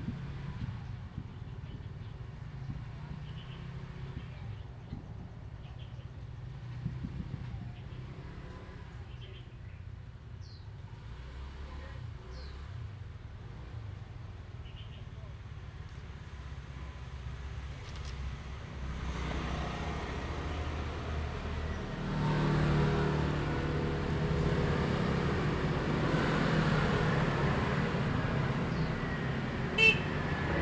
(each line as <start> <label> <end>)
10.9 Traffic Sound 30.6